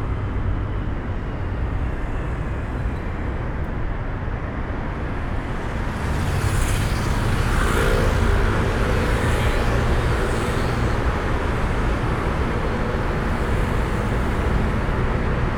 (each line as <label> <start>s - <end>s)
traffic tunnel drone 0.0s - 15.5s